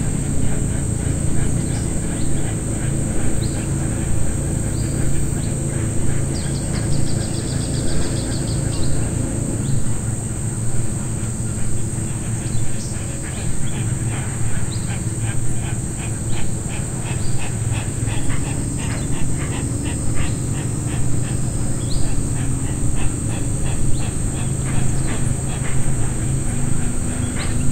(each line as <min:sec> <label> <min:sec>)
0:00.0 insects 0:27.7
0:00.0 motorboats travel down the nearby Madre De Dios River 0:27.7
0:00.0 Birds are close 0:27.7